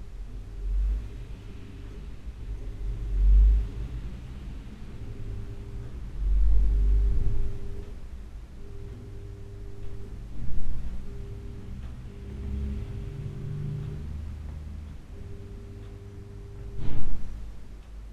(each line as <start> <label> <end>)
0.0 cars 18.1
4.9 Clocks 18.1